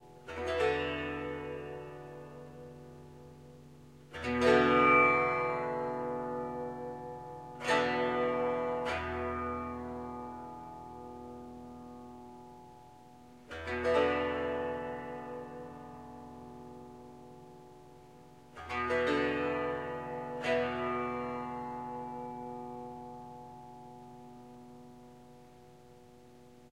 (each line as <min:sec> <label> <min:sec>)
0:00.0 Tanpura Slow strumming 0:26.7